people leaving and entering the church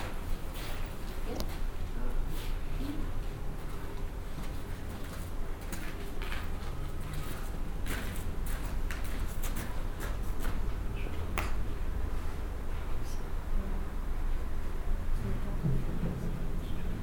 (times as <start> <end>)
0.0 11.2